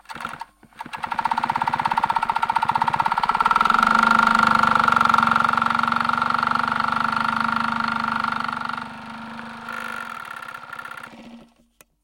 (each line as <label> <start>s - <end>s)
machine à coudre 0.1s - 11.6s